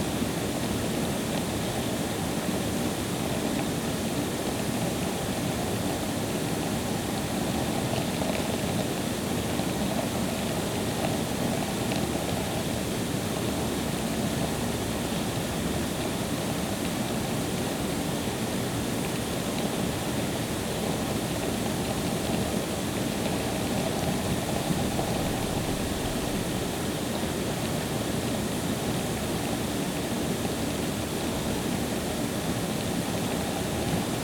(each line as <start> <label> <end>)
0.0 ground water treatment plant 34.2